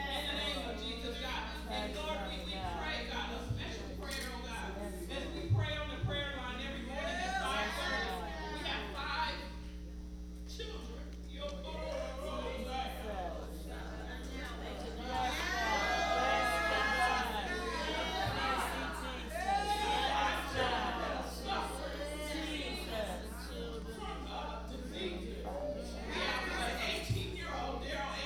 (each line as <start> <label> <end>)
0.0 prayer session 28.2